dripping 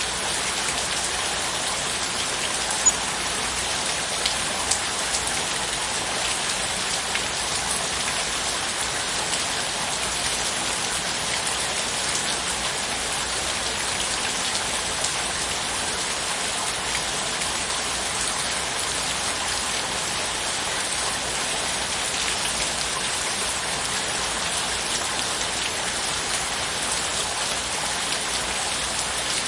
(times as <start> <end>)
1.8 5.3